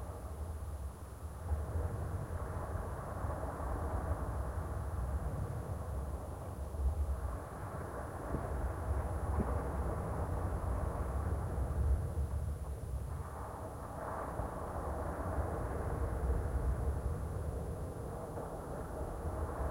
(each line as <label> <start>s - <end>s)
SEA 0.0s - 19.7s